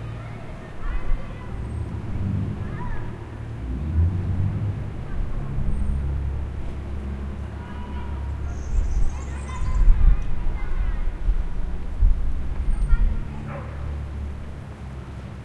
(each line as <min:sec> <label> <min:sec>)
0:00.0 playing children 0:15.4
0:00.0 water 0:15.4
0:07.4 birds 0:11.0
0:13.4 barking 0:13.9